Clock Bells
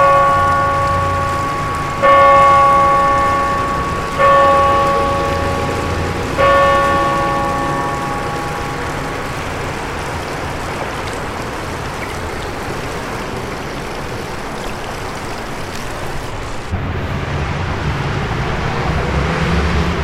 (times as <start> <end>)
0.0 10.8